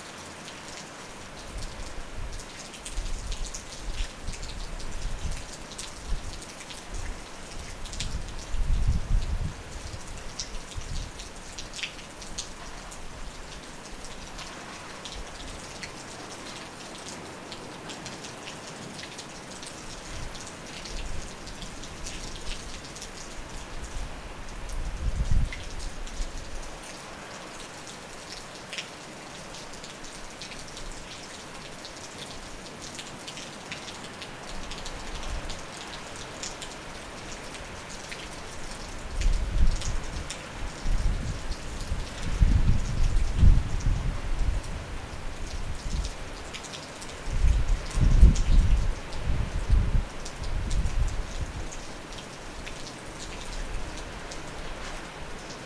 heavy rain 0:00.0 - 0:55.6

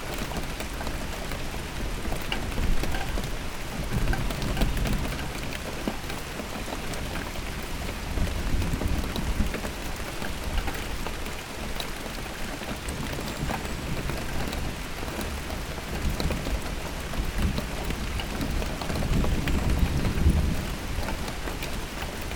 Drops are falling on a old wheelbarrow 0:00.0 - 0:22.3
Rain 0:00.0 - 0:22.3

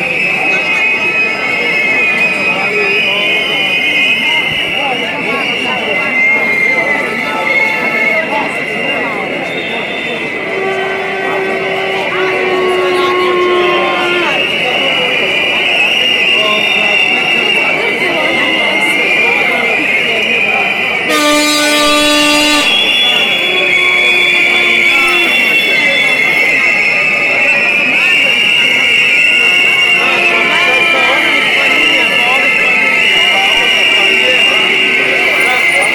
Protests 0:00.0 - 0:35.9

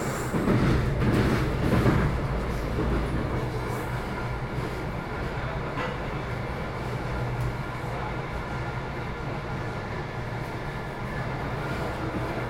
Train 0:00.0 - 0:12.4

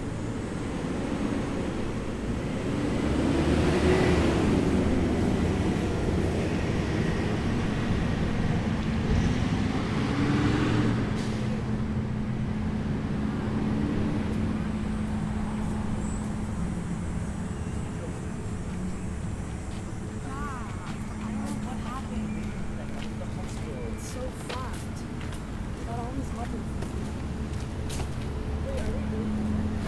Traffic sounds (buses, cars, ...) 0:00.0 - 0:29.8
People passing by, talking 0:08.4 - 0:12.6
People passing by, talking 0:17.6 - 0:29.8

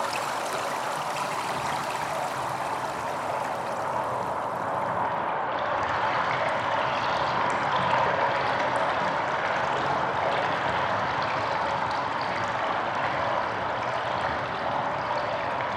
filteranlagen 0:00.0 - 0:07.4

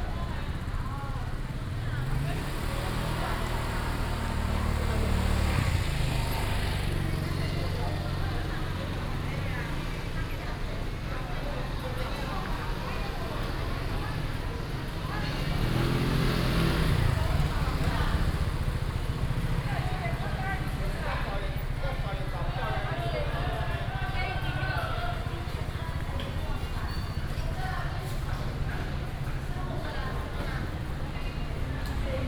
Street vendors 0:00.0 - 0:32.2
Traffic sound 0:00.0 - 0:32.2

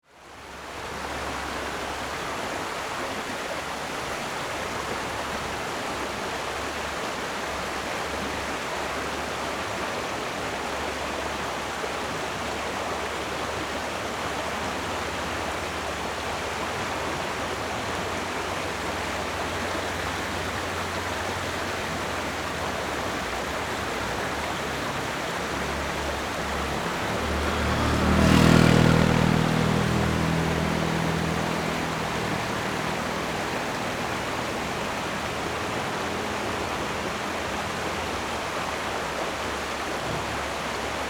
water streams 0:00.2 - 0:41.0

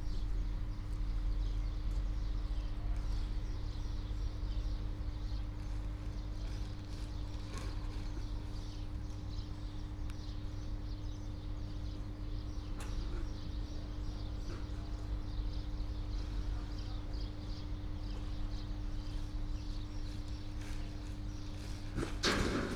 workers sorting garbage 0:20.2 - 0:22.7

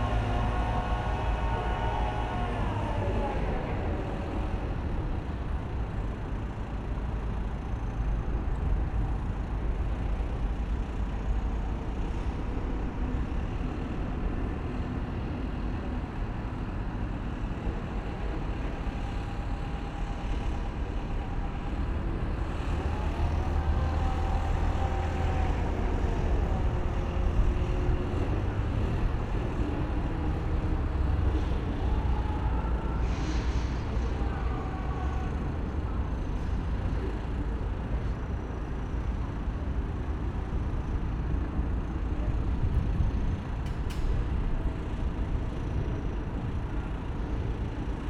big crane lifts big steal beam 0:00.0 - 0:48.0

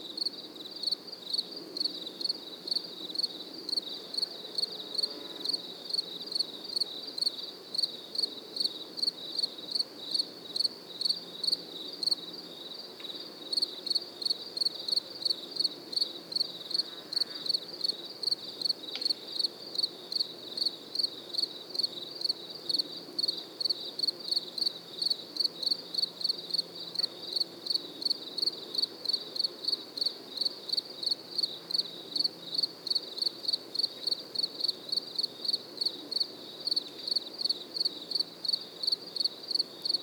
other summer insects 0:00.0 - 0:40.0

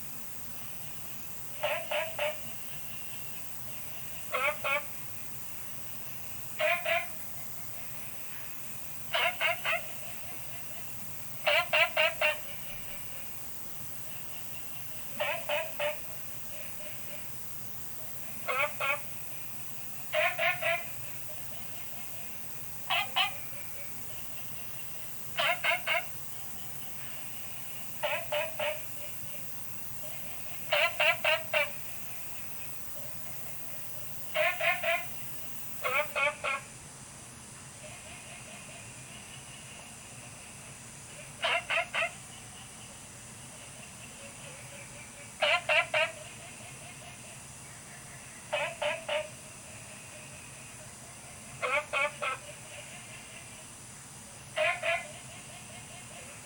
Frogs chirping 0:00.0 - 0:36.4
Insects sounds 0:00.0 - 0:56.4

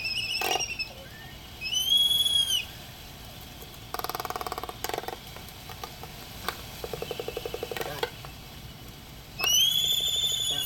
laysan albatross dancing 0:03.4 - 0:10.6

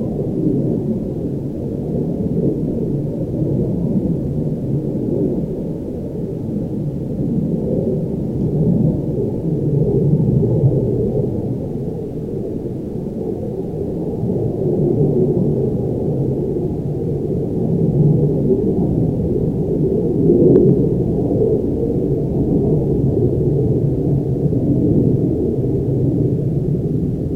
Airplanes flying over Owens Lake 0:00.0 - 0:27.3

